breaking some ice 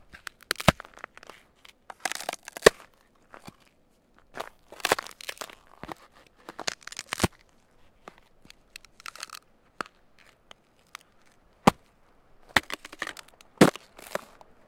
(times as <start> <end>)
0.2 1.1, 1.9 3.6, 4.8 5.7, 6.5 7.4, 8.8 9.4, 12.6 14.4